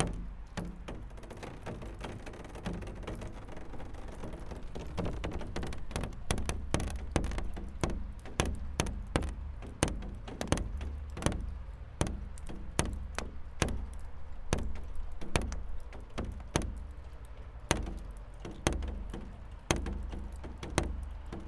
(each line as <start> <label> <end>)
0.0 melting snow dripping on plastic roof 21.4